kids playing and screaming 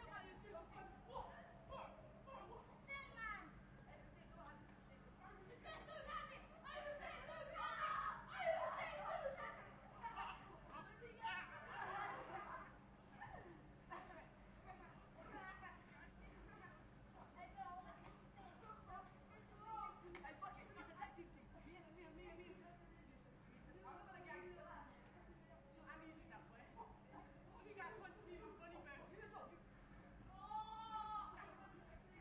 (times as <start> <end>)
5.6 10.5, 30.3 31.6